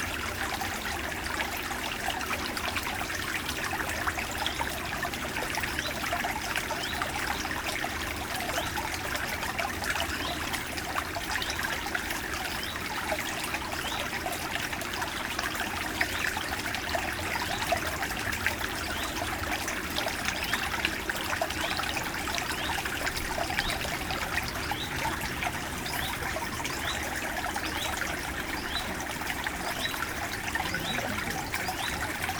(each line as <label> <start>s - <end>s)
small stream inside the woods 0.0s - 32.3s